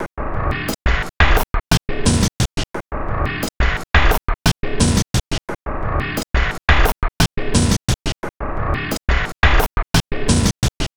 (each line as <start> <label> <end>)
0.4 Drum Loop 10.9